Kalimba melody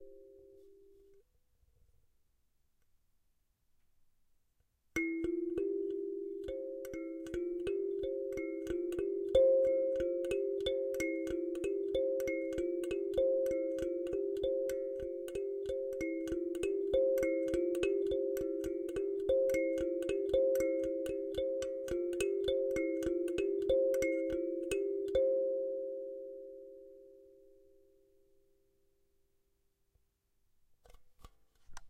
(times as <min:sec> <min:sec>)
0:05.0 0:27.4